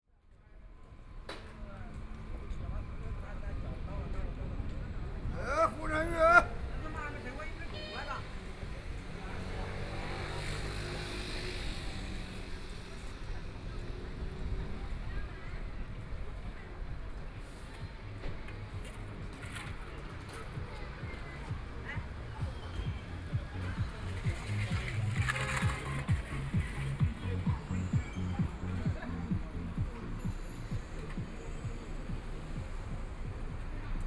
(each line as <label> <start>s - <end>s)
Walking in the small streets 0.0s - 34.0s